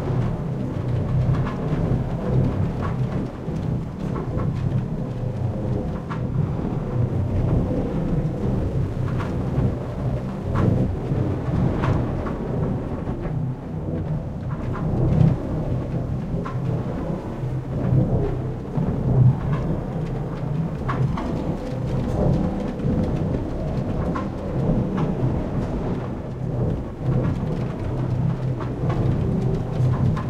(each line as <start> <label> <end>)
0.0 Trains 30.2
0.0 Wind 30.2
2.2 Machinery 13.0